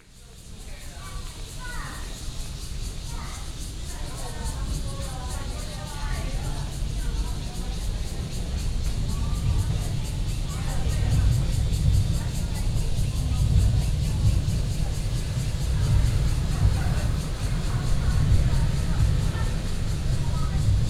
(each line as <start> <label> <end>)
0.0 Cicadas sound 20.8
0.6 MRT train passes 20.8
10.0 Traffic Sound 20.8